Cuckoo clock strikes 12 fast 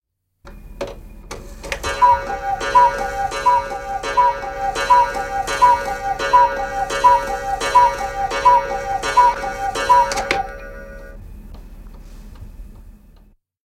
1.8s 11.2s

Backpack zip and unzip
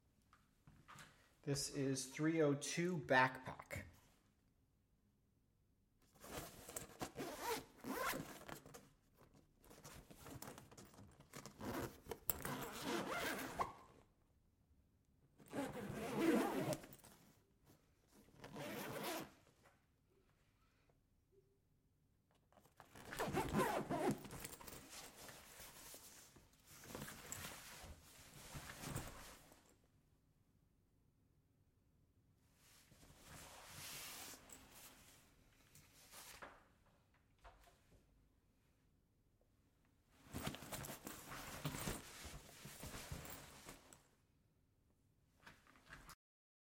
6.4s 8.5s, 11.5s 13.8s, 15.5s 17.0s, 18.4s 19.3s, 22.9s 24.8s

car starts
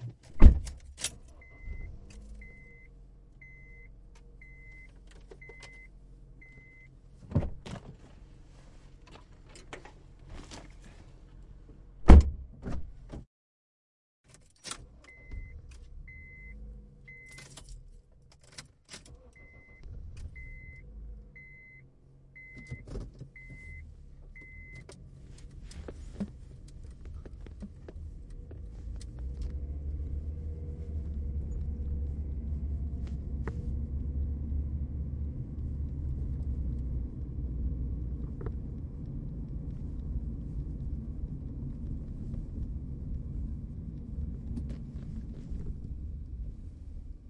0.4s 2.9s, 14.6s 21.6s

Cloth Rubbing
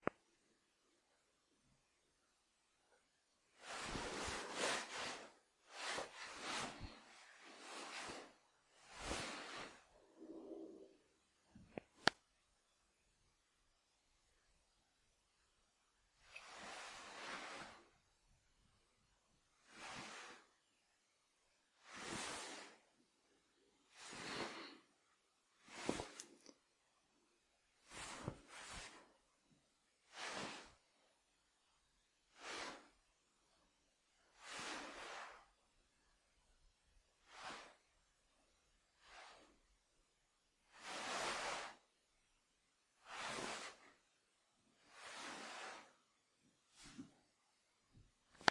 3.6s 10.4s, 16.3s 18.0s, 21.8s 22.9s, 25.6s 26.4s, 27.8s 29.2s, 30.0s 31.0s, 40.7s 42.0s, 42.9s 44.2s, 44.8s 46.2s

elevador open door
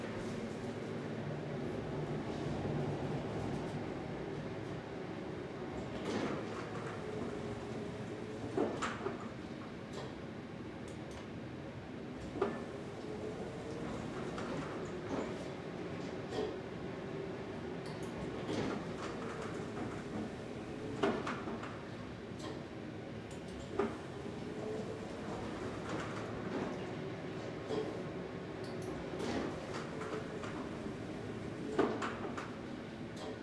28.8s 33.4s

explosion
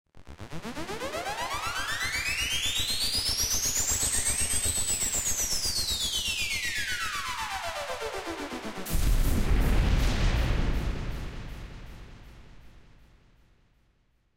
8.9s 13.8s

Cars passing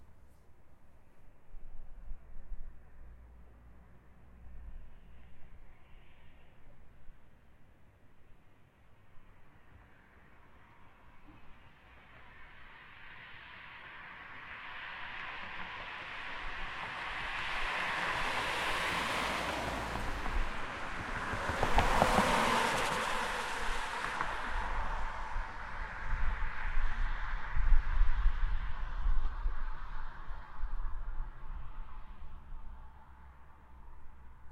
13.6s 27.8s

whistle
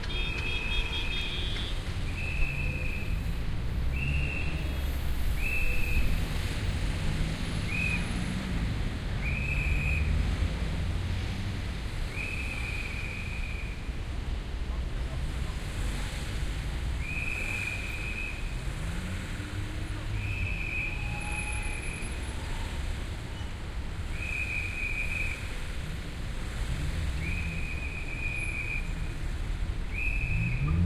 2.2s 3.1s, 3.9s 4.6s, 5.4s 6.1s, 7.7s 8.0s, 9.2s 10.1s, 12.1s 13.8s, 17.0s 18.4s, 20.2s 22.0s, 24.1s 25.4s, 27.2s 29.0s, 29.9s 30.7s

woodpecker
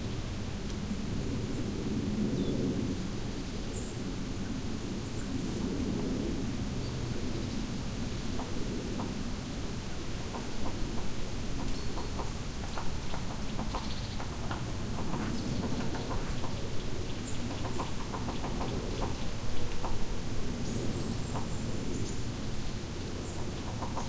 10.2s 20.1s, 23.2s 24.0s

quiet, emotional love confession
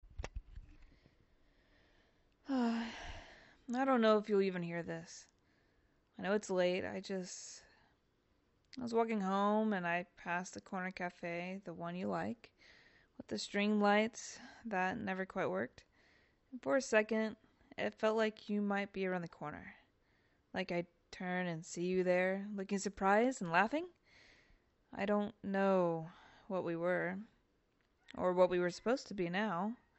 2.4s 5.3s

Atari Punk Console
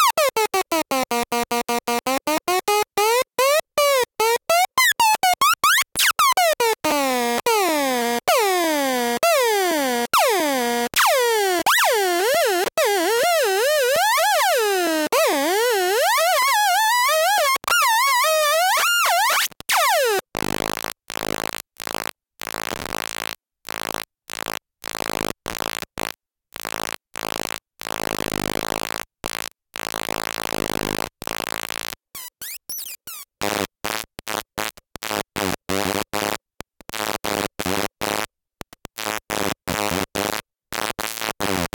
1.7s 20.2s

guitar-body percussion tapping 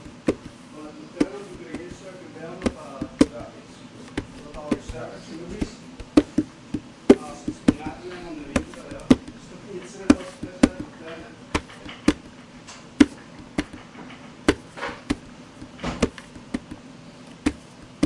0.0s 0.6s, 1.2s 2.0s, 4.2s 9.4s, 10.1s 12.4s, 13.0s 13.9s, 14.5s 16.8s, 17.4s 18.0s

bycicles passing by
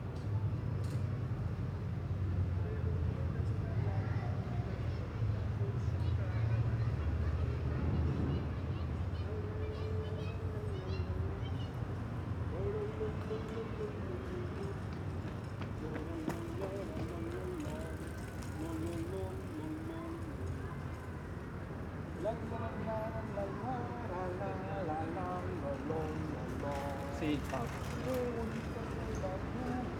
14.0s 21.0s

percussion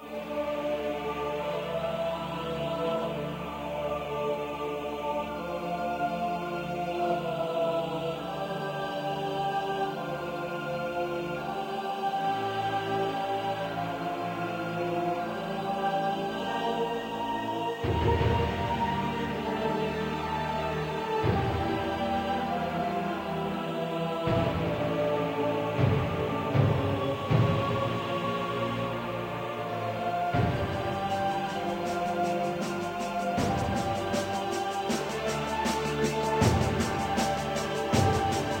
17.8s 38.6s

